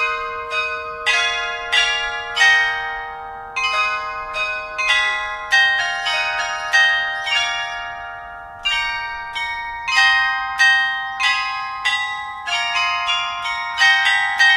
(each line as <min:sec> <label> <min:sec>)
0:00.0 churchbells 0:14.5